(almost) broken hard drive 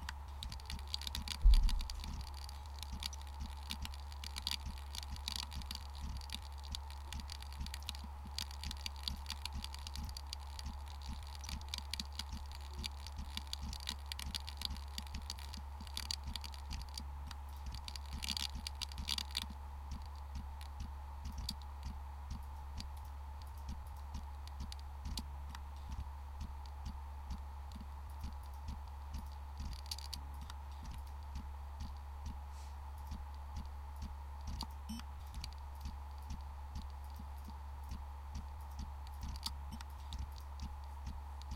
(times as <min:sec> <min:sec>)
0:00.0 0:32.4